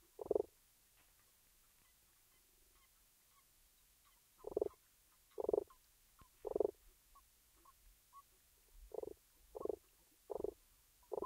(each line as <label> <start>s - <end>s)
one frog croaking 0.2s - 0.5s
one frog croaking 4.4s - 5.7s
one frog croaking 6.4s - 6.8s
one frog croaking 8.9s - 11.2s